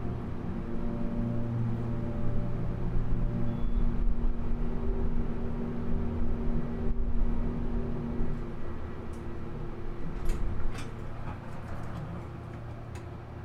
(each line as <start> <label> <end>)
0.0 trip on the Montgomery elevator 13.4